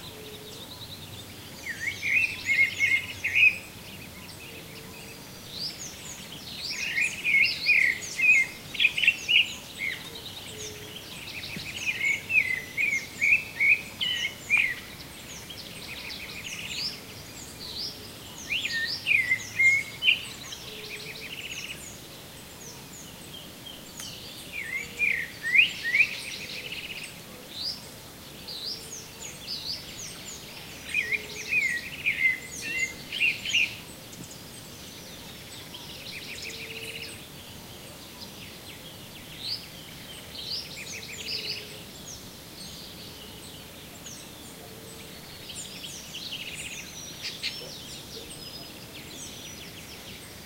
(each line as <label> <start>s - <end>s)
Song and calls of birds 0.0s - 50.4s
Waterfall noise in the background 0.0s - 50.4s